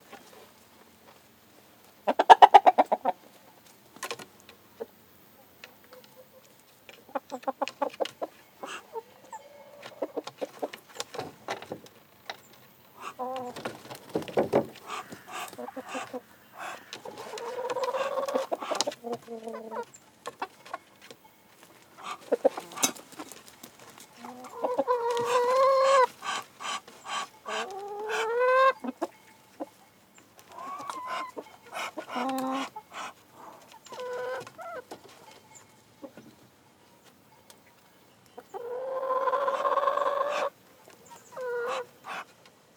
7.1s chicks duck 10.7s
13.0s chicks duck 13.6s
14.8s chicks duck 20.5s
22.0s chicks duck 23.0s
24.2s chicks duck 29.1s
30.5s chicks duck 34.8s
38.4s chicks duck 42.4s

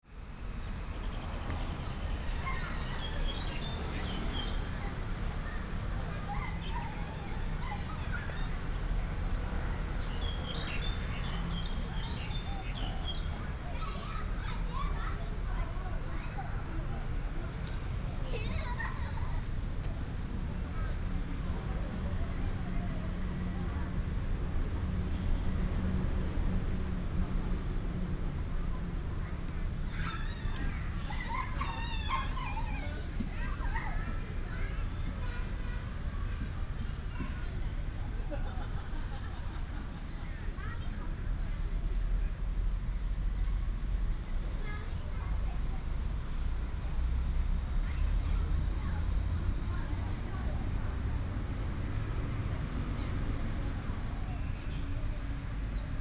0.1s Traffic sound 56.0s
4.3s Child 9.3s
10.6s Child 20.0s
29.3s Child 39.4s
40.2s Child 41.4s
44.3s Child 51.6s

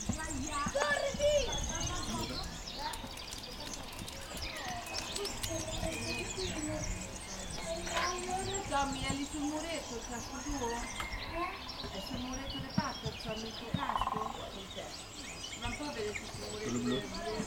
0.0s Family 17.4s
0.0s woodpeckers 17.4s

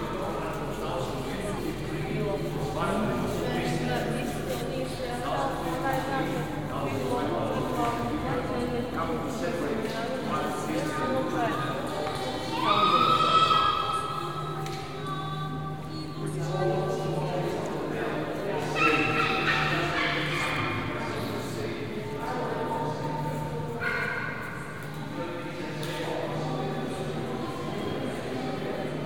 0.0s Tourists inside church 29.0s

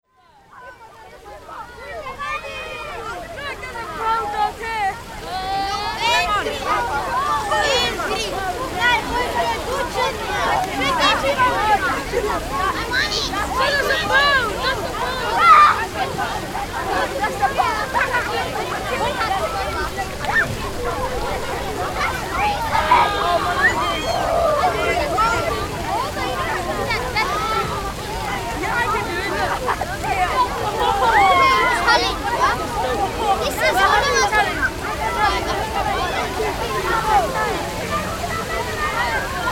0.2s fountain 39.5s

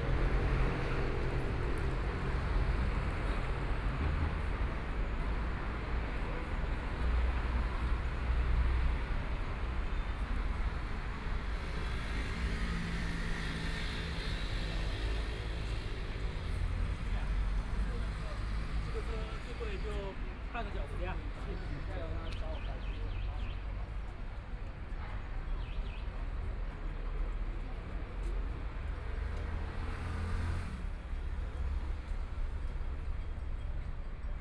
0.0s traffic sound 34.4s

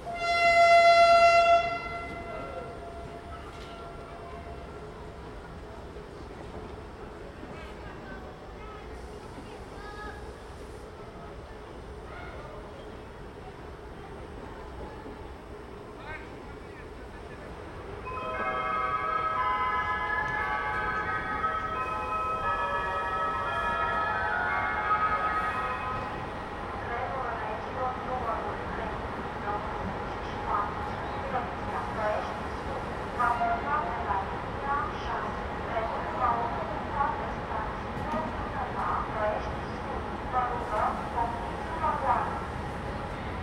0.0s train arrives 43.4s

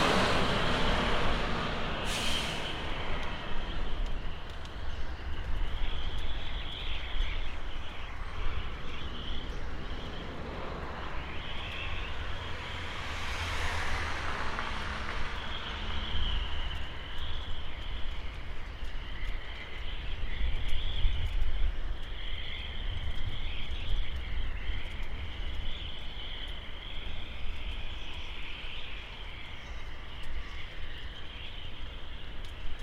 0.0s wind 32.8s

